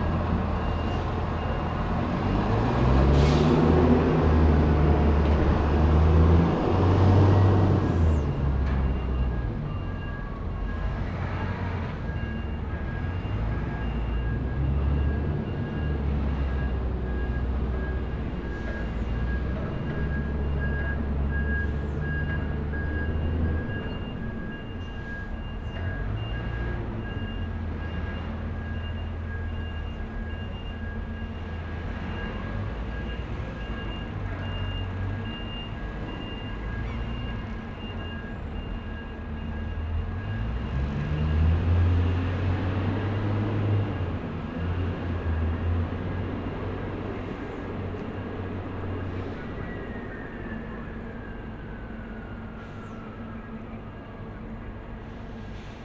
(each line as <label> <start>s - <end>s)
ferry docking and unloading 0.0s - 53.3s